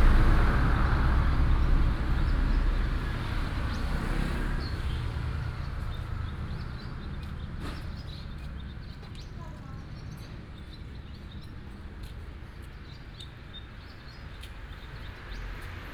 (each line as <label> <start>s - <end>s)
traffic sound 0.0s - 15.9s
Birds sound 0.3s - 15.9s